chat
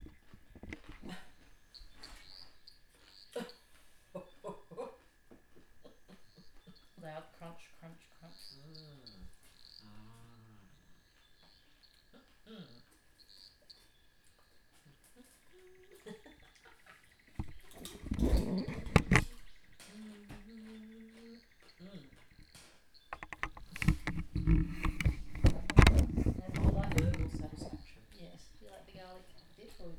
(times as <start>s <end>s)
15.2s 22.3s, 23.2s 29.9s